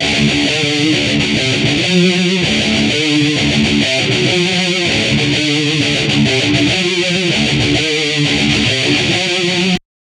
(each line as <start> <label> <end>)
0.0 rythum guitar loops 9.8